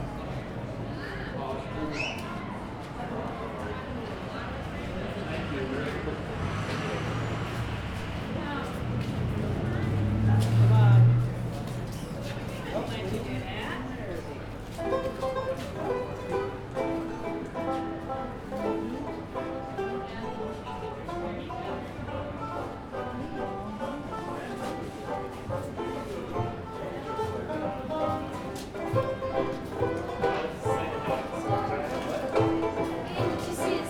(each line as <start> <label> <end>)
9.5 banjo in the background 33.8